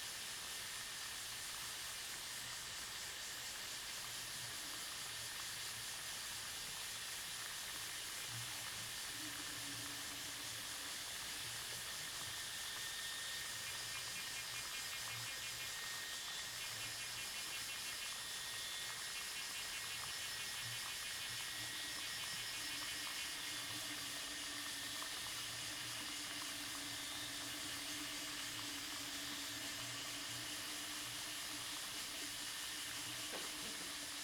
Cicadas 0:00.0 - 0:34.2
Insects 0:00.0 - 0:34.2
Broken water pipes 0:24.9 - 0:34.2

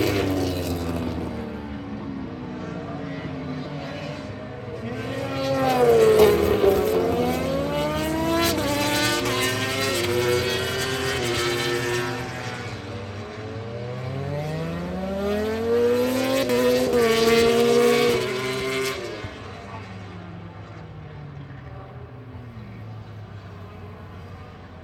motorcycle grand prix 0:00.0 - 0:24.8

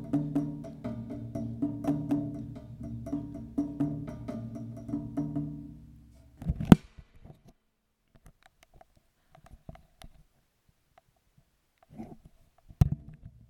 Steel door percussion 0:00.0 - 0:06.0

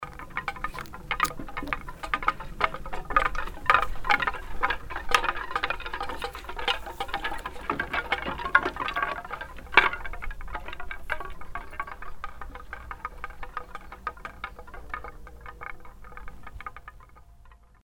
sound sculpture 0:00.0 - 0:02.2

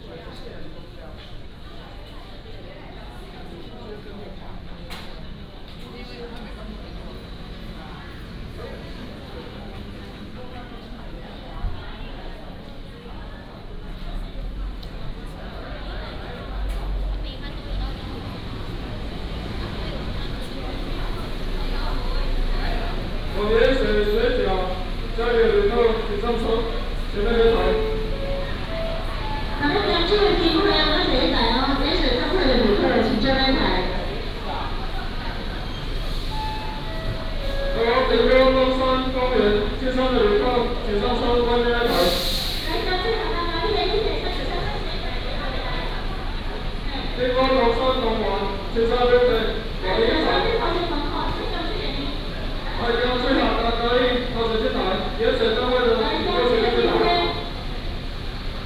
Traffic sound 0:00.0 - 0:58.6
Station broadcasting 0:23.5 - 0:34.4

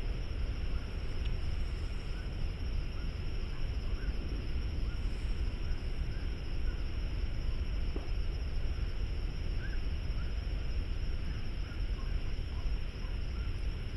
Frogs 0:00.0 - 0:13.9

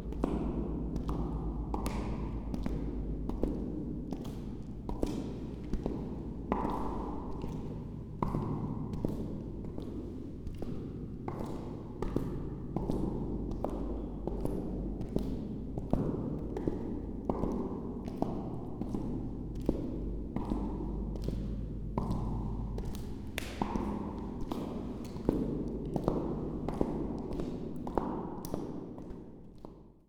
walking echo, slow 0:00.0 - 0:30.0

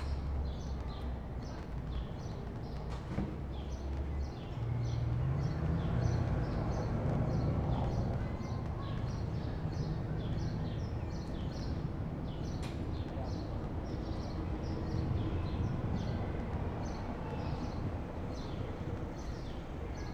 pedestrians 0:00.0 - 0:20.1
traffic noise 0:00.0 - 0:20.1
upcoming thunderstorm 0:04.6 - 0:10.1

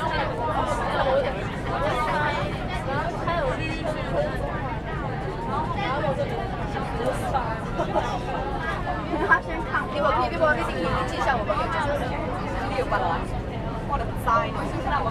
students in the train 0:00.0 - 0:15.1

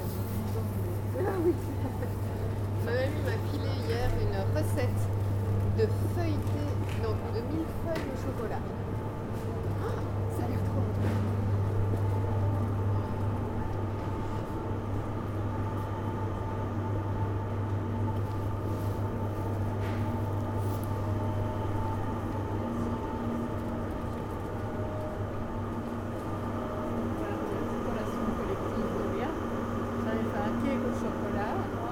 three persons paying at the cashier 0:00.0 - 0:13.4

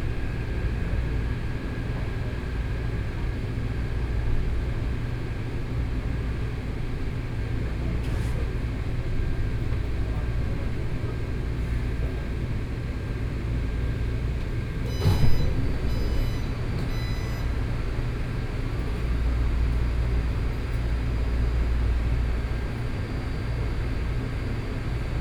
MRT 0:07.6 - 0:23.8

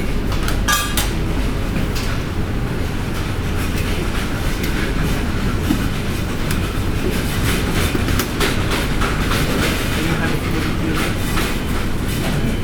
Walk through a busy supermarket 0:00.0 - 0:12.6

